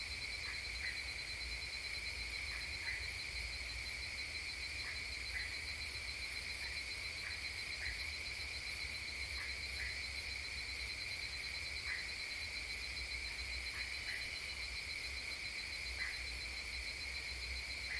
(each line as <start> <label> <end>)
0.0 crickets 17.9
0.0 singing of the frogs 17.9
0.0 song and the nocturnal activities of the insects 17.9